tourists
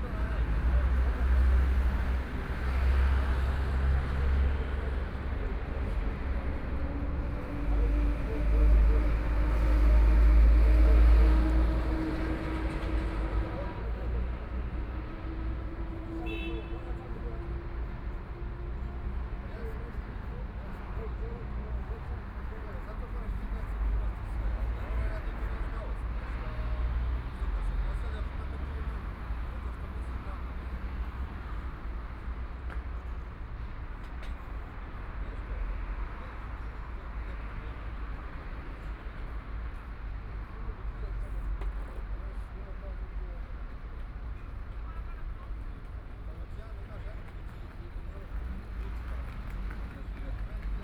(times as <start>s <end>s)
34.3s 50.8s